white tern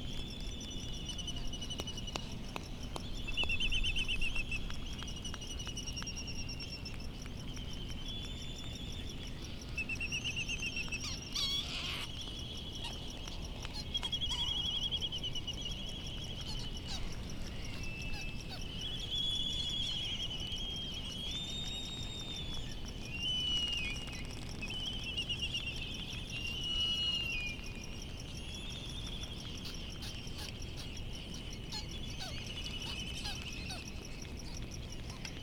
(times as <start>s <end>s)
10.7s 12.2s, 29.5s 35.2s